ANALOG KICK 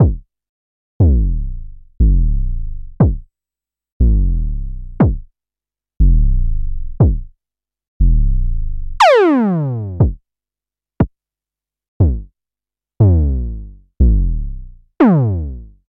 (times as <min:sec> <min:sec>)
0:00.0 0:00.2, 0:01.0 0:02.3, 0:02.9 0:03.2, 0:05.0 0:05.3, 0:07.0 0:07.3, 0:10.0 0:10.2, 0:12.0 0:12.3